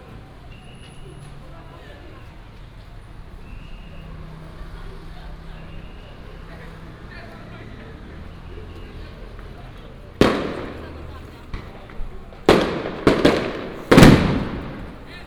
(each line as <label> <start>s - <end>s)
Traffic sound 0.0s - 15.2s
Walking on the road 0.0s - 15.2s
Firecrackers and fireworks 5.4s - 15.2s